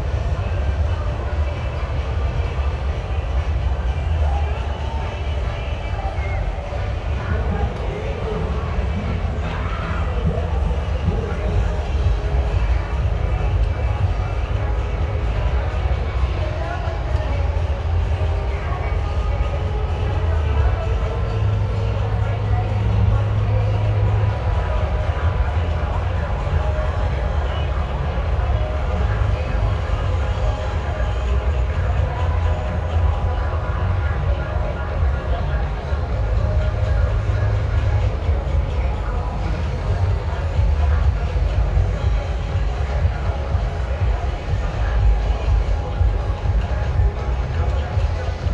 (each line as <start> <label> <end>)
0.0 musics are mixing together 48.5